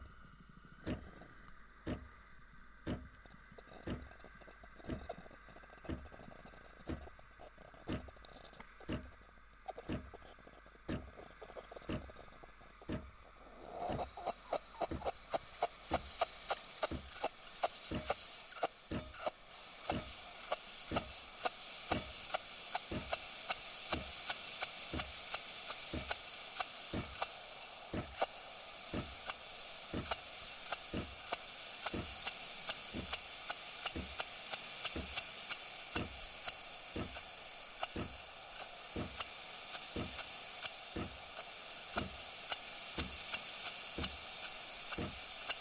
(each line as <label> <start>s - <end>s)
steam hiss 0.0s - 45.6s
water pump mechanical sound 0.0s - 45.6s